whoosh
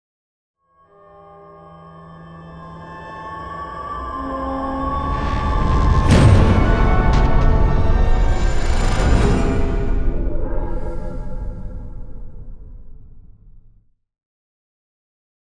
5.0s 13.8s

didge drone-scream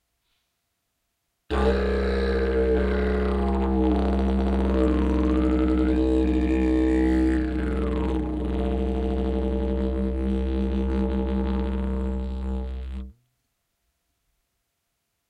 1.5s 12.7s

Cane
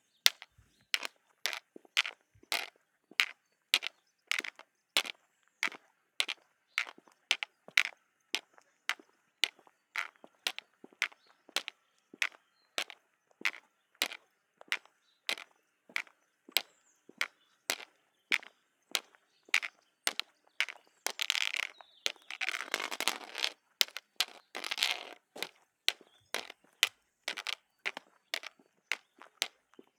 21.1s 25.5s

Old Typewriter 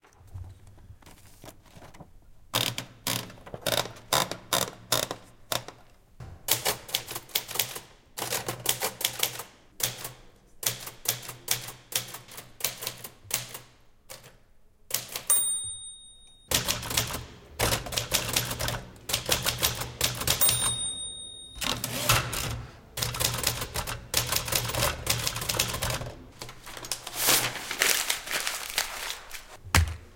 2.6s 5.8s, 6.5s 15.4s, 16.5s 21.0s, 21.6s 27.0s

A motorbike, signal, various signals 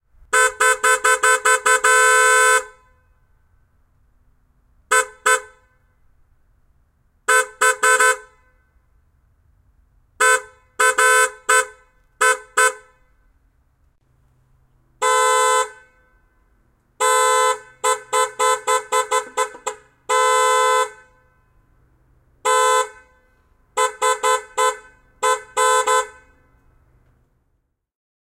0.3s 3.3s, 4.9s 5.8s, 7.3s 8.8s, 10.2s 13.3s, 17.0s 21.7s, 22.4s 26.6s

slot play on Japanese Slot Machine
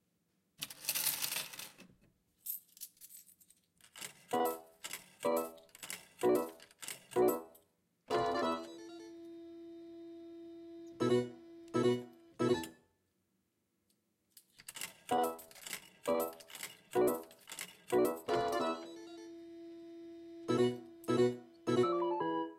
4.0s 7.5s, 8.1s 9.4s, 10.9s 12.7s, 14.8s 22.5s

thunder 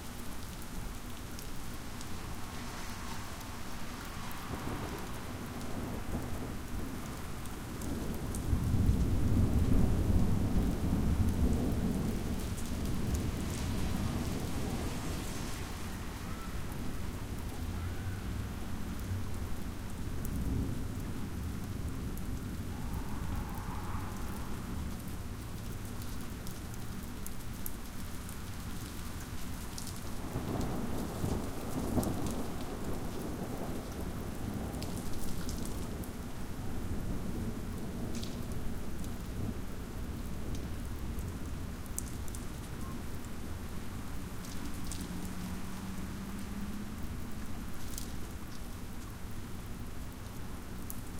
4.3s 18.1s, 21.9s 25.3s, 30.2s 36.1s

